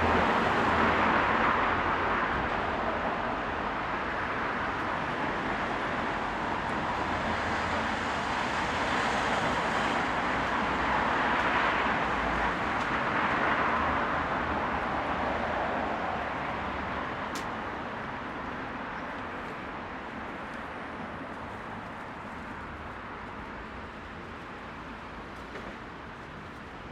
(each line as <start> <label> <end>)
0.0 vehicles 26.9
16.8 movement from pedestrians 26.9